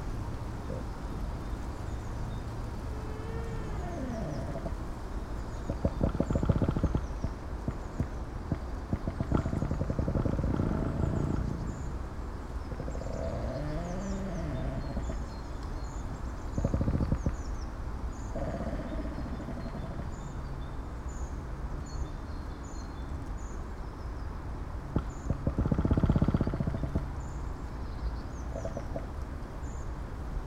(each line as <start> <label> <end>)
2.6 creaking trees 5.0
2.7 strong wind 15.3
5.6 creaking trees 12.0
12.7 creaking trees 15.3
16.5 creaking trees 17.5
18.3 creaking trees 20.1
25.0 creaking trees 27.2